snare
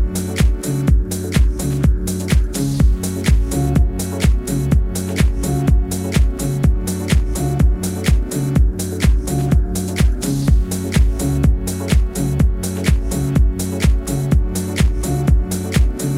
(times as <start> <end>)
0.3 0.7, 1.3 3.6, 4.2 4.5, 5.2 5.5, 6.1 6.4, 7.0 7.4, 8.0 8.4, 10.0 11.3, 12.8 13.2, 13.8 16.1